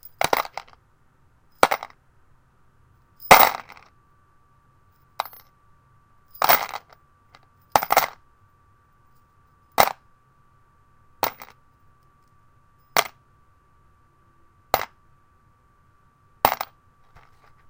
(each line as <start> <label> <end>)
0.0 Shaking and dropping screws 0.8
1.6 Shaking and dropping screws 2.0
3.2 Shaking and dropping screws 3.9
6.4 Shaking and dropping screws 6.9
7.8 Shaking and dropping screws 8.2
11.2 Shaking and dropping screws 11.6
16.5 Shaking and dropping screws 17.6